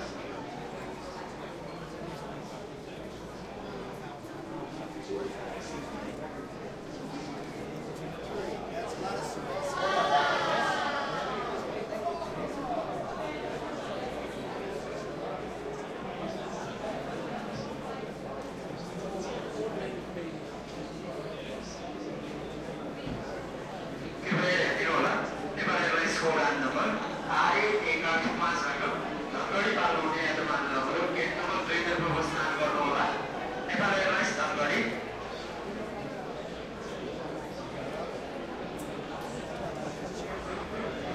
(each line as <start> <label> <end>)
0.0 crowd 41.1
24.2 loudspeaker 34.9